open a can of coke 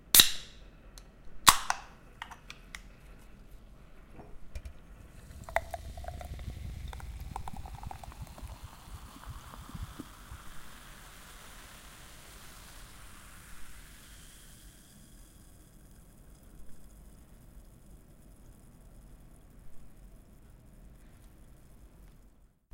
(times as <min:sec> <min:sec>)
0:00.2 0:00.5, 0:01.4 0:02.9, 0:04.6 0:15.5